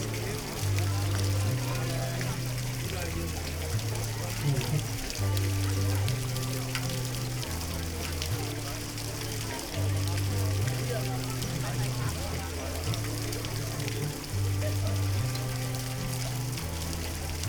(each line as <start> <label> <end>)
0.0 metal sculpture fountain 17.4